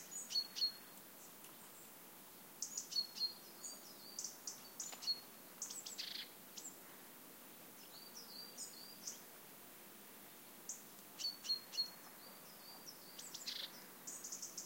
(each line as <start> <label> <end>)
0.0 singing birds 2.0
2.6 singing birds 6.8
7.7 singing birds 9.3
10.3 singing birds 14.6